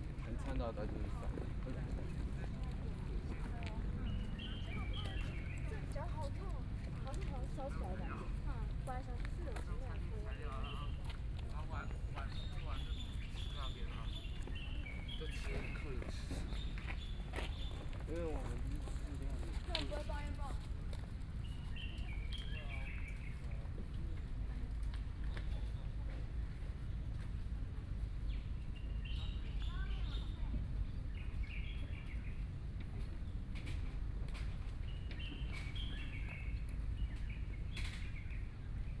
Running and walking people 0:00.0 - 0:28.0
Birdsong 0:03.3 - 0:06.4
Birdsong 0:09.0 - 0:20.5
Bicycle Sound 0:15.0 - 0:20.9
Birdsong 0:21.4 - 0:23.5
Birdsong 0:28.3 - 0:32.5
Birdsong 0:34.4 - 0:39.0

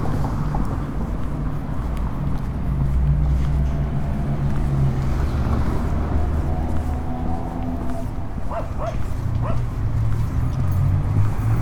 Walking down the park sidewalk 0:00.0 - 0:11.6

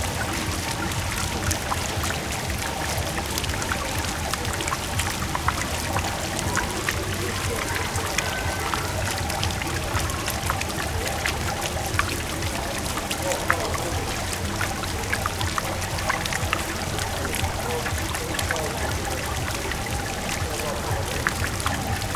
water of the fountain 0:00.0 - 0:22.1

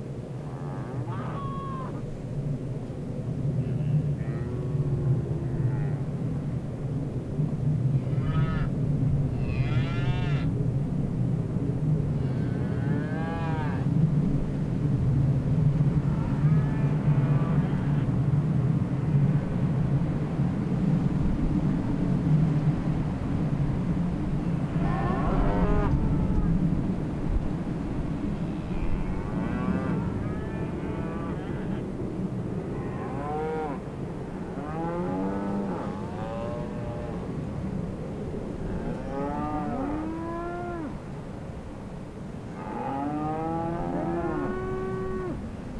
Cows Mooing 0:12.3 - 0:13.9
Cows Mooing 0:24.8 - 0:26.5
Cows Mooing 0:28.7 - 0:31.8
Cows Mooing 0:32.8 - 0:33.8
Cows Mooing 0:34.6 - 0:37.2
Cows Mooing 0:38.8 - 0:40.9
Cows Mooing 0:42.6 - 0:45.4

